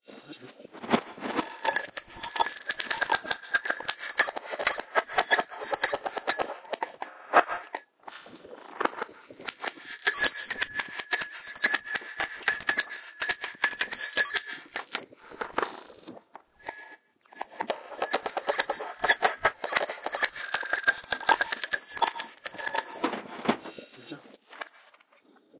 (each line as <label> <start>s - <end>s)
percussion 0.8s - 7.8s
percussion 8.7s - 23.6s